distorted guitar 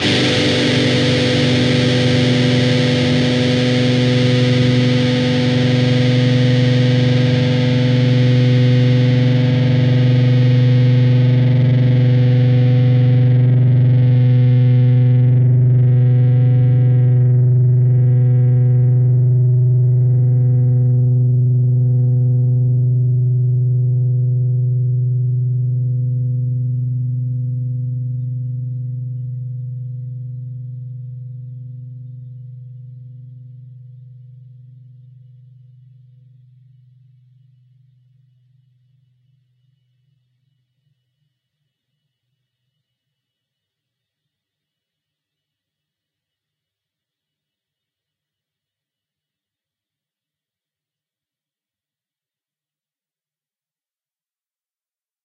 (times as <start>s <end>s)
0.0s 36.8s